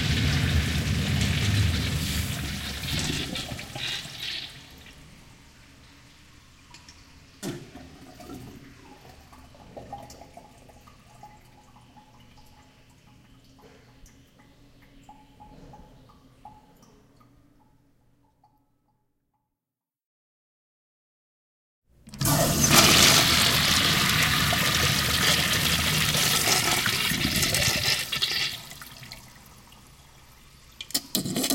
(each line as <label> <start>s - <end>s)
urinal flush 0.0s - 6.1s
urinal flush 7.4s - 16.6s
urinal flush 22.1s - 31.5s